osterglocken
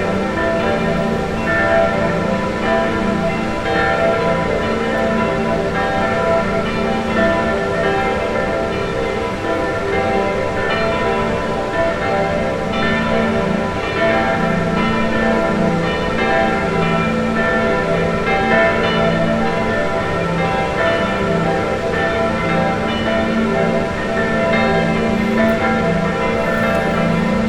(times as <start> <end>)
22.9 27.4